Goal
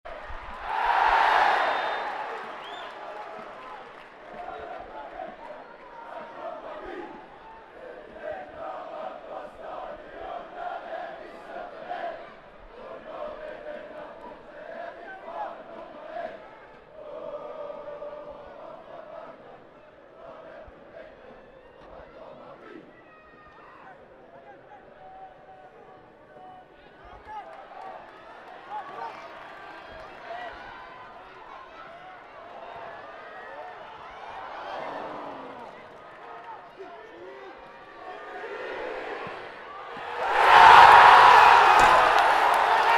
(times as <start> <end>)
39.2 42.9